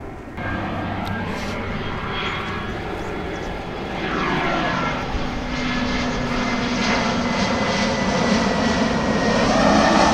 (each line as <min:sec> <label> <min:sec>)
0:00.0 plane flying 0:10.1